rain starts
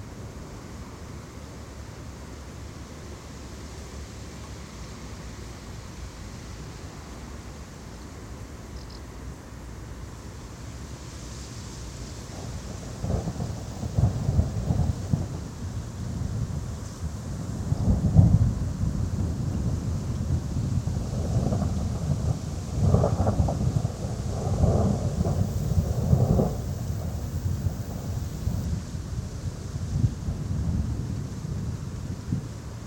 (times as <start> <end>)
11.0 15.6, 21.3 28.7